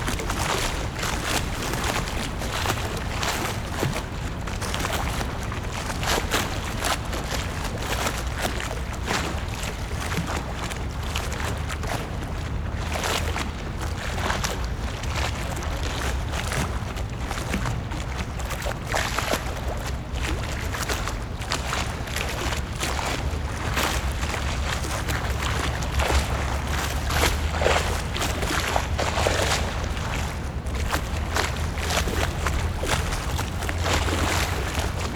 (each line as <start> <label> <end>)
0.0 waves 35.1